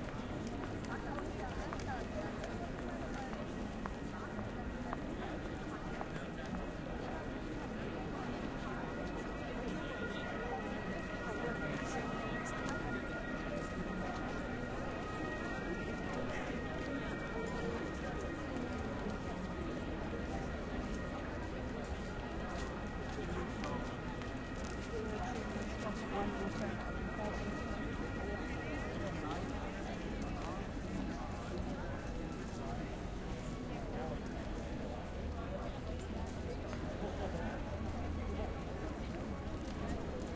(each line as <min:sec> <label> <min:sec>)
0:00.0 people passing by 0:40.3
0:00.1 police siren in the background 0:34.9